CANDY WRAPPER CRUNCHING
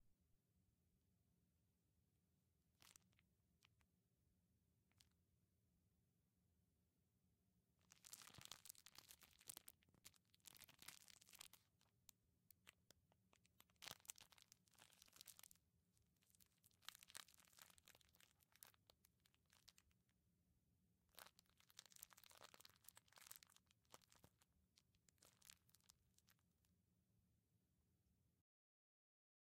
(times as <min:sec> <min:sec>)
0:07.8 0:11.9, 0:13.4 0:15.6, 0:16.2 0:20.0, 0:21.1 0:26.4